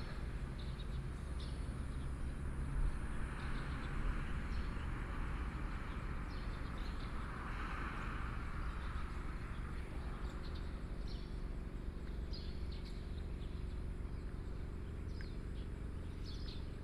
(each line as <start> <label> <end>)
0.0 Traffic Sound 16.8
8.4 Birdsong 16.8